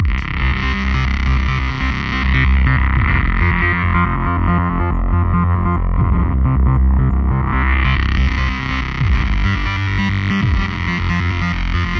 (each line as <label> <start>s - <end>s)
Hard driving synth lead 0.0s - 11.9s